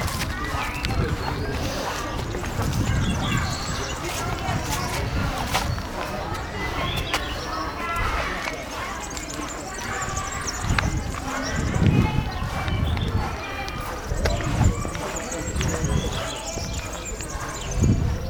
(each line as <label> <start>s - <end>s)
Walking through the public park 0.0s - 18.2s
park life 0.0s - 18.2s